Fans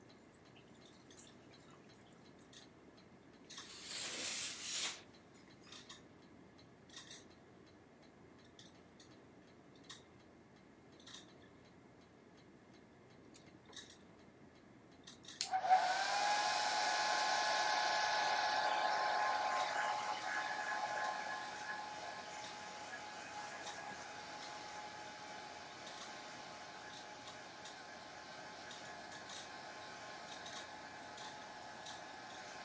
15.4 32.6

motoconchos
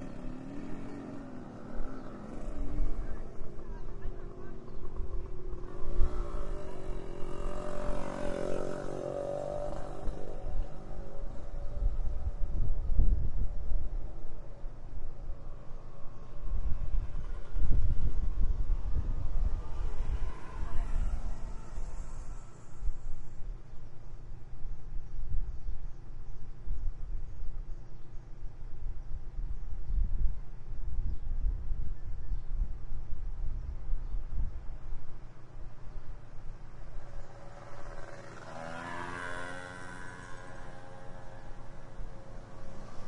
0.0 12.9, 14.0 23.4, 35.4 43.0

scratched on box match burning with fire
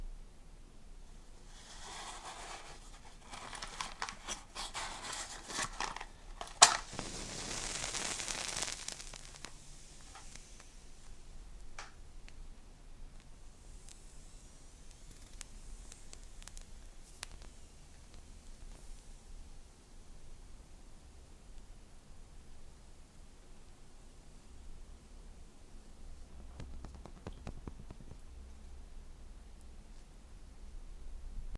1.5 11.1, 13.7 19.0

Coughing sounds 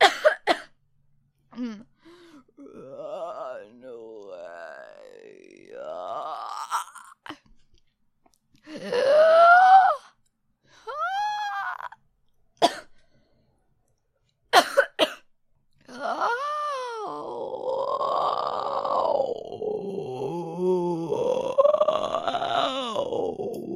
0.0 0.8, 12.6 13.0, 14.5 15.3

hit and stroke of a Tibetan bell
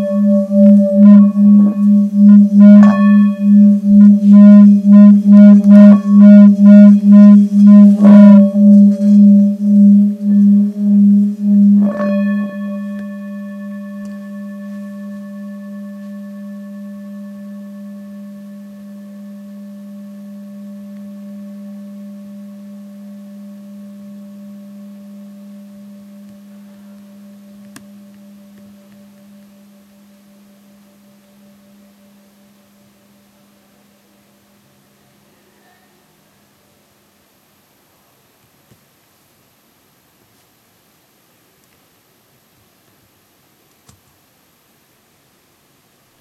0.0 33.2

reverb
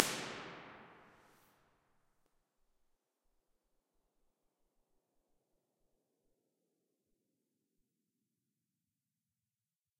0.0 1.1

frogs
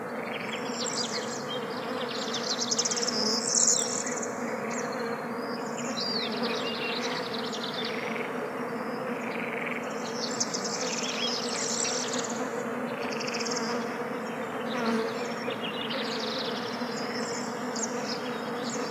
7.9 11.1

